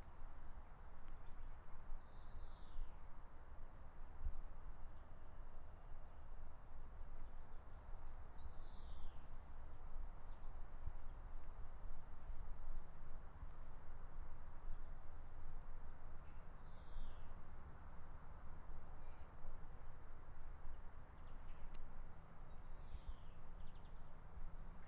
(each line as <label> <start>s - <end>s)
birds chirping 22.4s - 24.8s